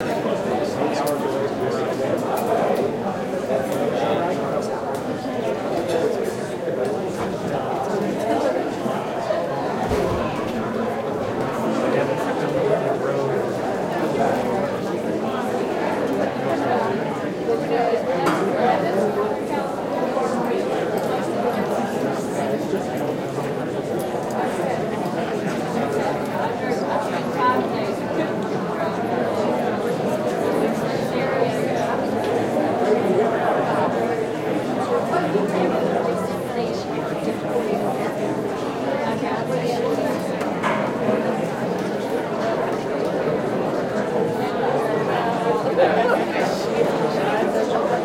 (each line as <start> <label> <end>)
0.0 Several hundred people talking 48.0